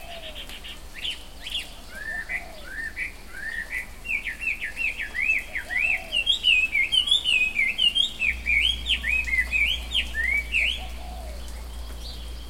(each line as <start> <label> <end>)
0.0 soft rain 12.4